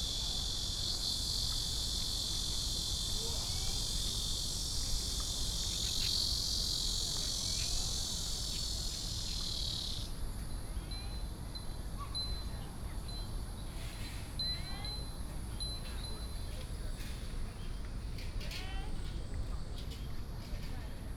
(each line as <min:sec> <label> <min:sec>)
0:15.1 Walking in the university 0:21.1